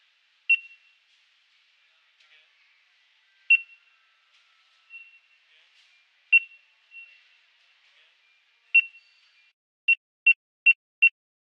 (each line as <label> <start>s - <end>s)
Market scanner beep 0.5s - 1.0s
Market scanner beep 3.5s - 3.9s
Market scanner beep 4.8s - 5.4s
Market scanner beep 6.3s - 7.4s
Market scanner beep 8.7s - 11.2s